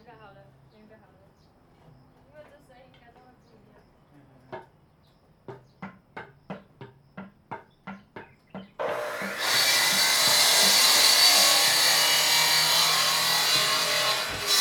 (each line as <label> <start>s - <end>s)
Saw Bamboo 8.8s - 14.6s